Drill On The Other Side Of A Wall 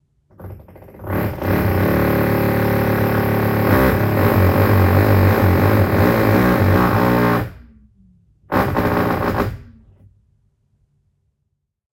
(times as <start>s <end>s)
0.3s 7.6s, 8.5s 9.8s